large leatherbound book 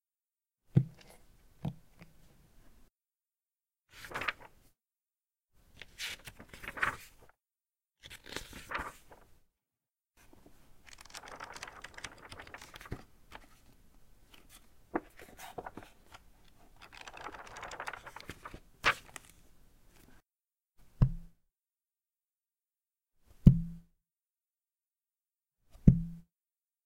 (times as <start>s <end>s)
3.9s 4.5s, 5.8s 7.3s, 8.0s 9.3s, 10.2s 13.7s, 16.8s 19.4s